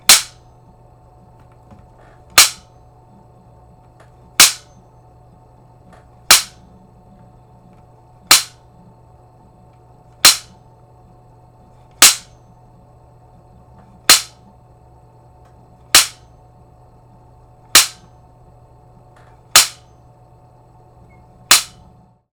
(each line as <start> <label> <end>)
0.1 slapstick slap 0.4
2.4 slapstick slap 2.6
4.4 slapstick slap 4.7
6.3 slapstick slap 6.6
8.3 slapstick slap 8.6
10.2 slapstick slap 10.5
12.0 slapstick slap 12.3
14.1 slapstick slap 14.4
16.0 slapstick slap 16.2
17.8 slapstick slap 18.0
19.6 slapstick slap 19.8
21.5 slapstick slap 21.8